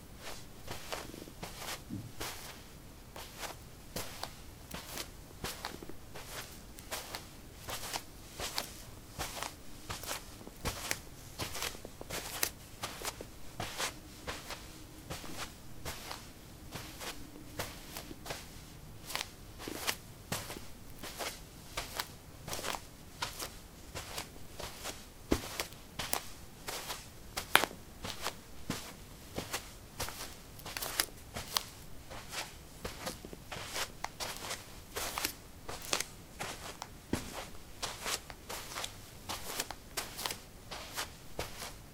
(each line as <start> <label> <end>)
0.2 womanshoes walk 41.9